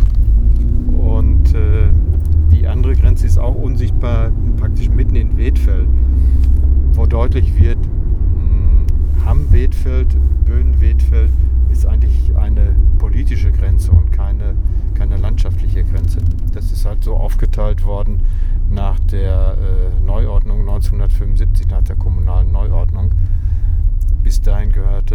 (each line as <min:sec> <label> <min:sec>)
0:00.0 Driving a dirt road 0:25.1
0:00.0 motorway 0:25.1